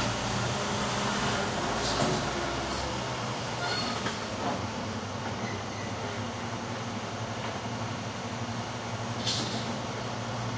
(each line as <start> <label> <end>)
0.0 garbage truck 6.3
8.9 garbage truck 10.5